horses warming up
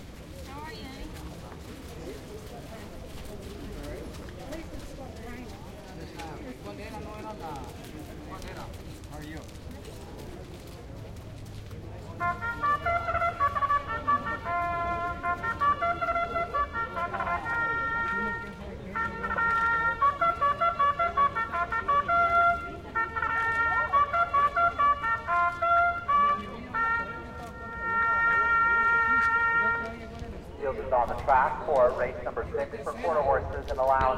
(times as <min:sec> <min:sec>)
0:00.0 0:12.5, 0:27.3 0:34.1